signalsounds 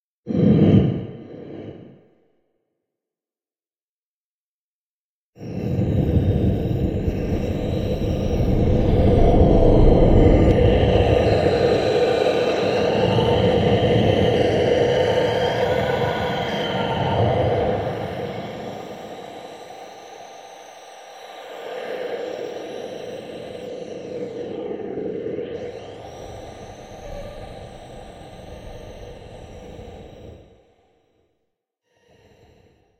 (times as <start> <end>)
17.8 30.9